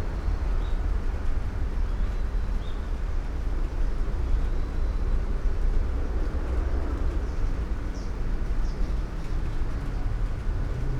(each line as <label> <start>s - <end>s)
soft rain 5.5s - 10.9s